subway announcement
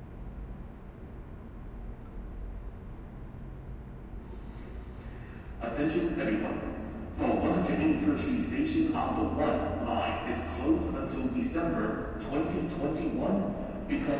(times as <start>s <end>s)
4.4s 14.1s